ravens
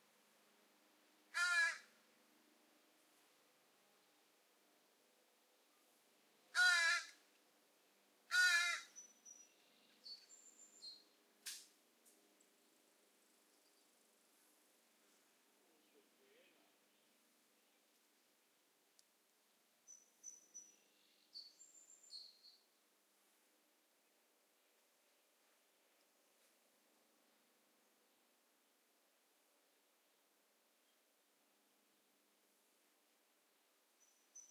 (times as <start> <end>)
1.3 1.9, 6.5 7.2, 8.3 9.0